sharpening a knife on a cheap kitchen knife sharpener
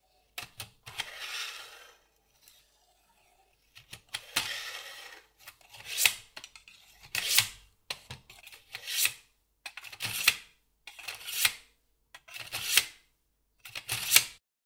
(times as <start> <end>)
4.1 7.6, 8.3 11.6, 12.2 13.0